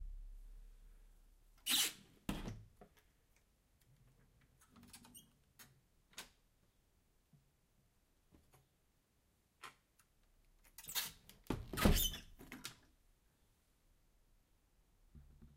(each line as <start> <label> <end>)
11.8 Old squeaky door 12.4